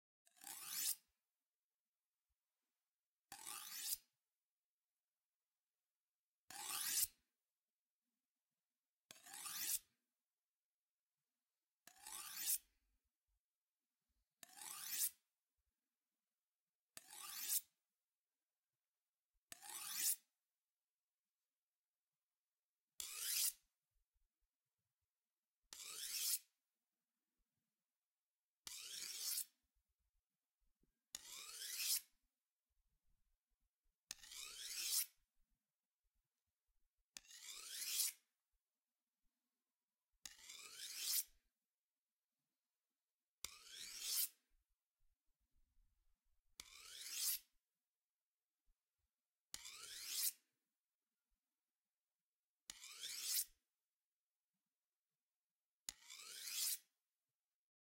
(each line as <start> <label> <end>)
0.2 slowly sharpening a large kitchen knife 1.2
3.3 slowly sharpening a large kitchen knife 4.2
6.4 slowly sharpening a large kitchen knife 7.3
9.1 slowly sharpening a large kitchen knife 10.1
11.7 slowly sharpening a large kitchen knife 12.9
14.2 slowly sharpening a large kitchen knife 15.3
16.9 slowly sharpening a large kitchen knife 17.8
19.4 slowly sharpening a large kitchen knife 20.4
23.0 slowly sharpening a large kitchen knife 23.7
25.6 slowly sharpening a large kitchen knife 26.6
28.6 slowly sharpening a large kitchen knife 32.3
33.8 slowly sharpening a large kitchen knife 35.5
37.1 slowly sharpening a large kitchen knife 38.4
40.1 slowly sharpening a large kitchen knife 41.5
43.4 slowly sharpening a large kitchen knife 45.1
45.8 slowly sharpening a large kitchen knife 47.6
49.5 slowly sharpening a large kitchen knife 50.6
52.6 slowly sharpening a large kitchen knife 53.7
55.8 slowly sharpening a large kitchen knife 57.0